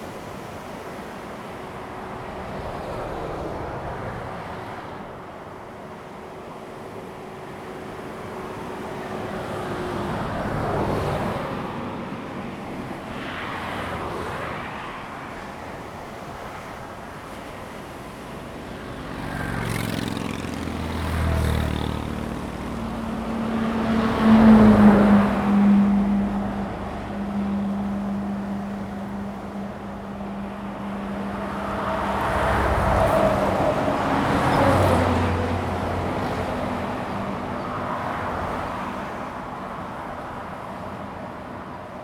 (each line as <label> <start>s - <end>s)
Traffic 0.0s - 42.0s
waves 0.0s - 42.0s